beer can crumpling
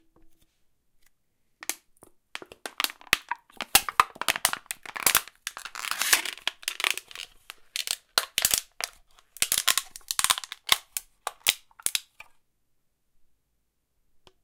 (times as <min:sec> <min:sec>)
0:02.4 0:12.2